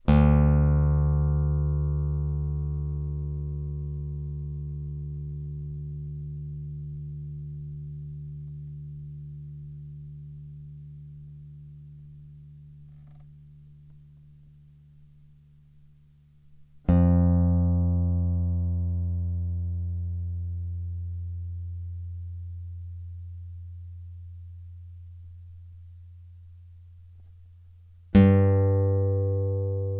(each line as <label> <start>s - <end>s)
Individual plucked notes 0.0s - 14.3s
Individual plucked notes 16.8s - 26.6s
fret buzz 16.8s - 29.9s
Individual plucked notes 28.1s - 29.9s